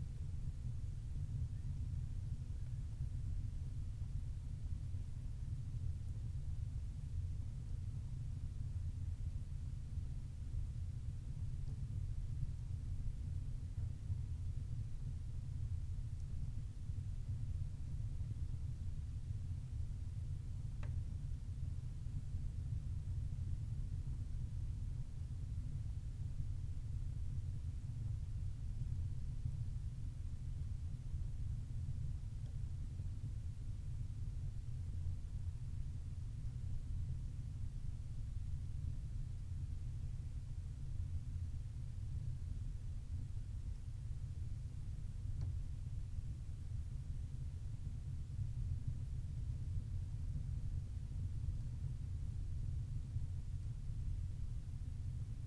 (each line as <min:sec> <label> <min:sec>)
0:00.0 low drone of a small peat-burning stove 0:55.4